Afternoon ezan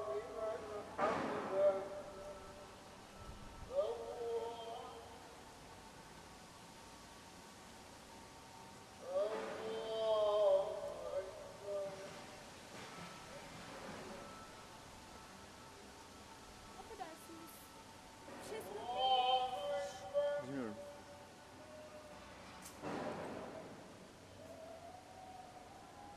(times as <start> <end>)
0.0 5.5, 9.0 14.6, 15.6 22.5